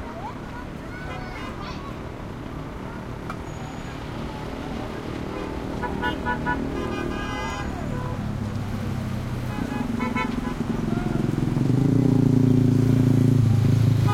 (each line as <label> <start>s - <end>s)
throaty cars motorcycles mopeds 0.0s - 14.1s
horn honks2 5.3s - 8.2s